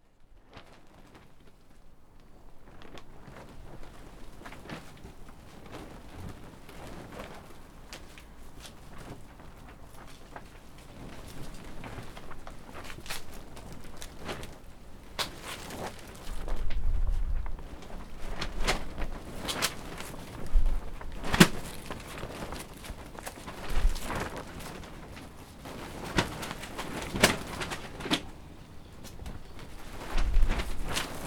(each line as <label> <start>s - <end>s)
plastic walls of a greenhouse fluttering in strong wind 0.0s - 31.2s